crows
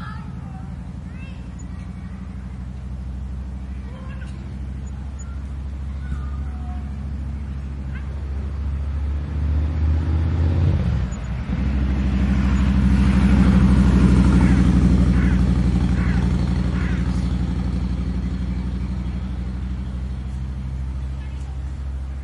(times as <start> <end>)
14.4 17.3